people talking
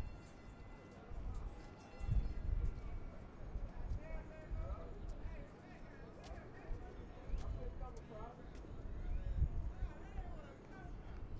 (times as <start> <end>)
2.4 11.3